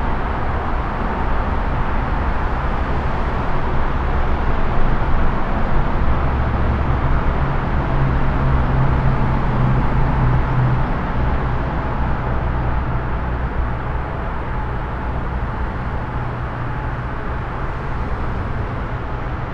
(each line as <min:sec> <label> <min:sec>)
0:00.0 highway traffic from above 0:19.5